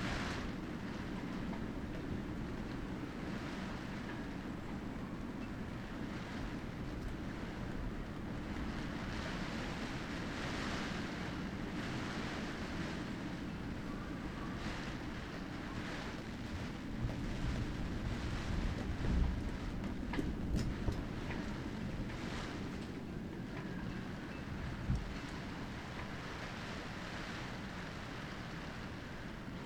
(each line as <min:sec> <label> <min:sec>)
0:00.0 rain hits the tarp 0:29.6